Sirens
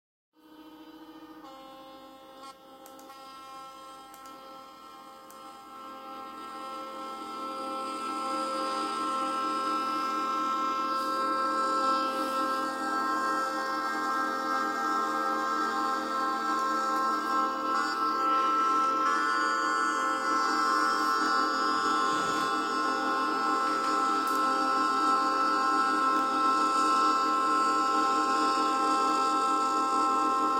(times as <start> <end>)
5.7 27.4